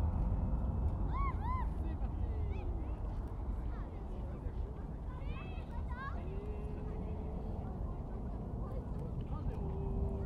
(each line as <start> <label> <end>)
0.0 plane that was about to liftoff 2.5